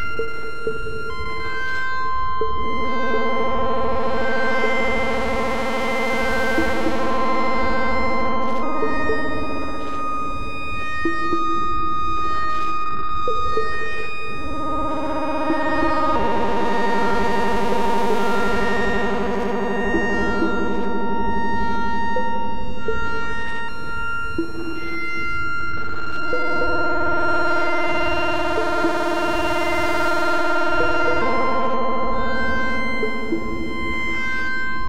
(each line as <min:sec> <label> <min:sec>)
0:00.0 Buchla-200-and-200e-modular-system 0:34.8